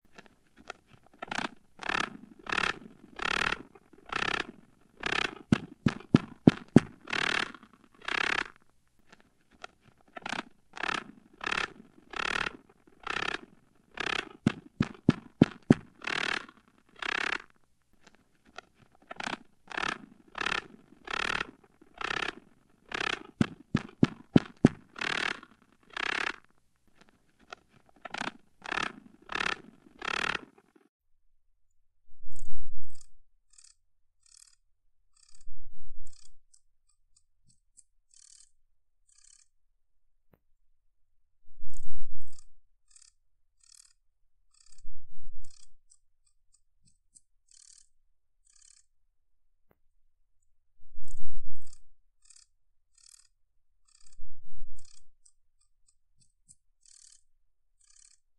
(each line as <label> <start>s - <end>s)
purring mating song of a jumping spider 0.2s - 8.6s
purring mating song of a jumping spider 9.5s - 30.9s
purring mating song of a jumping spider 53.9s - 55.1s